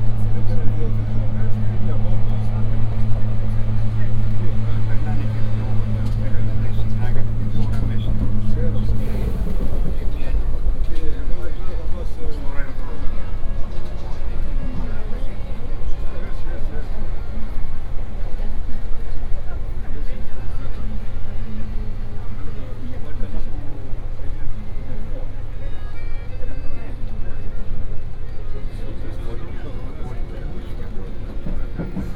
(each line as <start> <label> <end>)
0.0 Metro ride 32.1